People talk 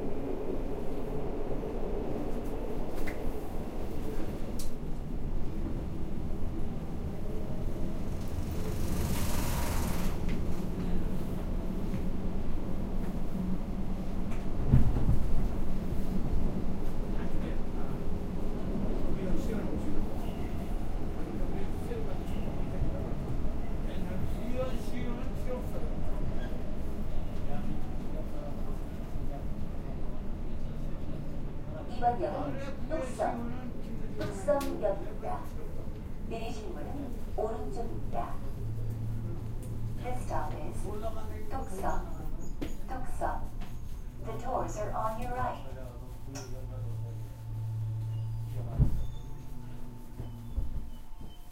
0:27.4 0:39.0, 0:40.0 0:43.4, 0:44.2 0:47.4

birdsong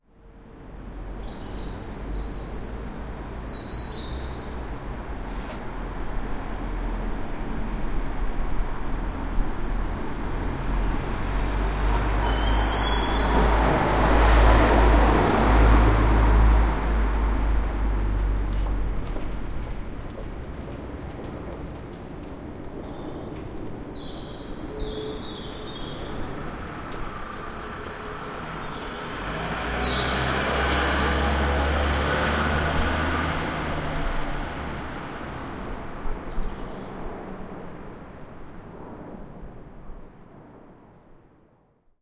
0:01.2 0:04.6, 0:11.0 0:13.4, 0:22.8 0:26.9, 0:36.2 0:39.0

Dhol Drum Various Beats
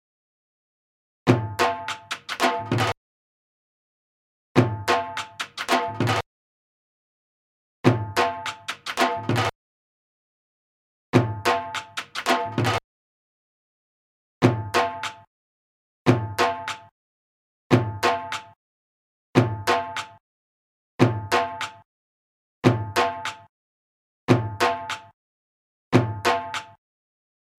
0:01.3 0:03.0, 0:04.6 0:06.2, 0:07.8 0:09.6, 0:11.2 0:12.8, 0:14.4 0:15.3, 0:16.1 0:16.9, 0:17.7 0:18.6, 0:19.4 0:20.2, 0:21.0 0:21.9, 0:22.6 0:23.5, 0:24.3 0:25.2, 0:26.0 0:26.8

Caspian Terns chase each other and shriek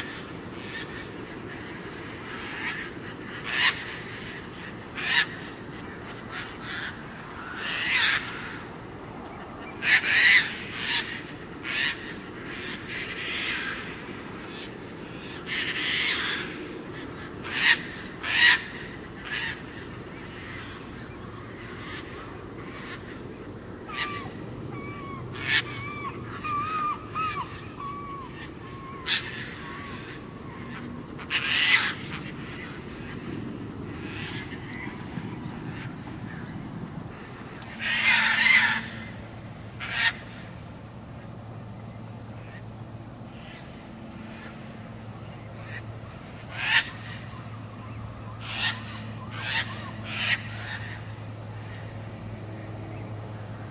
0:00.0 0:08.6, 0:09.8 0:16.6, 0:17.2 0:19.7, 0:23.9 0:33.3, 0:37.1 0:39.1, 0:39.8 0:40.4, 0:46.4 0:51.7

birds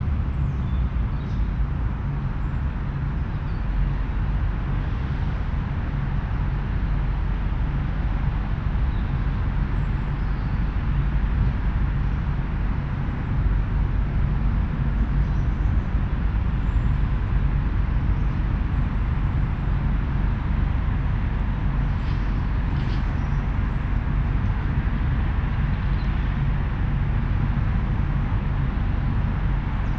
0:00.3 0:01.6, 0:08.8 0:11.2, 0:14.7 0:20.5, 0:22.0 0:24.7

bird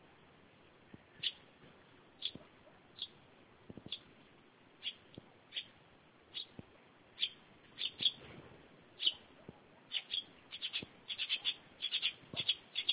0:01.1 0:01.4, 0:02.2 0:03.2, 0:03.8 0:04.1, 0:04.8 0:06.6, 0:07.2 0:08.3, 0:09.0 0:12.9

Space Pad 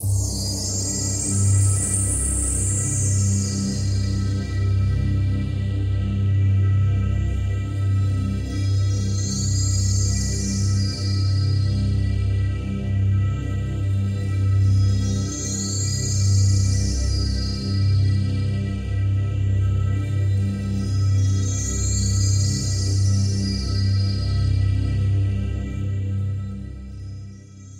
0:00.0 0:04.8

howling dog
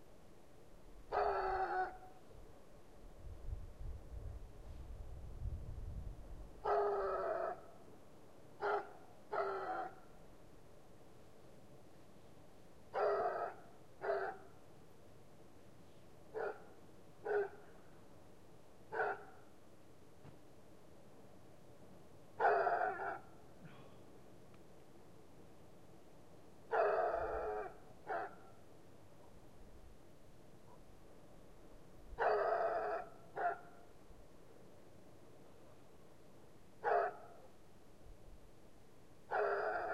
0:01.1 0:02.0, 0:06.6 0:07.6, 0:13.0 0:14.4, 0:22.4 0:23.2, 0:26.7 0:28.4, 0:32.2 0:33.7, 0:39.3 0:39.9

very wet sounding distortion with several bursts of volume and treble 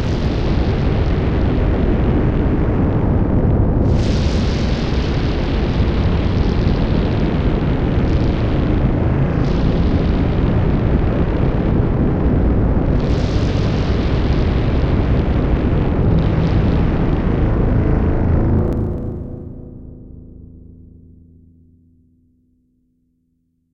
0:03.6 0:19.6

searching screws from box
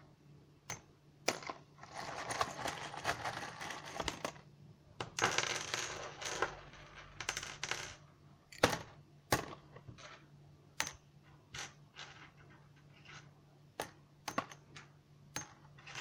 0:01.8 0:04.3

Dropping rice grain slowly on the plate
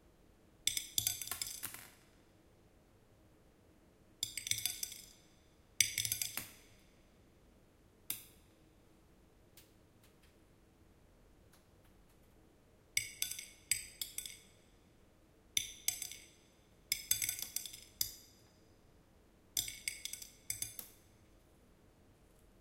0:13.0 0:14.8, 0:15.6 0:18.6, 0:19.6 0:21.4

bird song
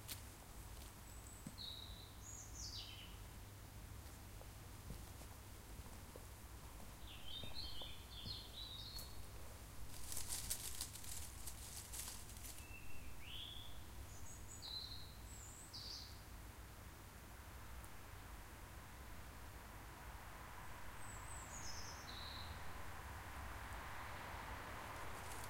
0:01.0 0:03.2, 0:07.0 0:09.3, 0:11.9 0:16.3, 0:21.0 0:22.7

